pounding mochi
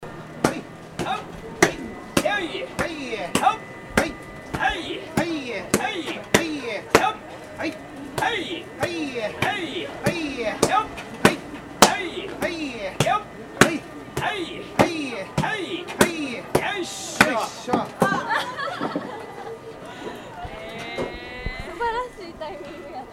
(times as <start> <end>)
0.4 7.2, 8.2 18.2